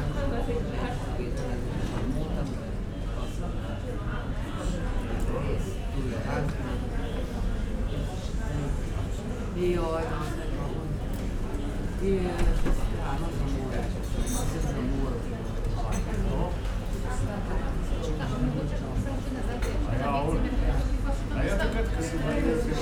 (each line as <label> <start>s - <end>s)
market activity 0.0s - 22.8s